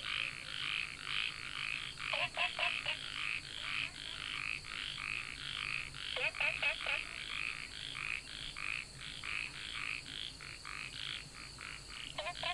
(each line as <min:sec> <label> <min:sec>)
0:00.0 Frogs chirping 0:12.5
0:00.0 Insects called 0:12.5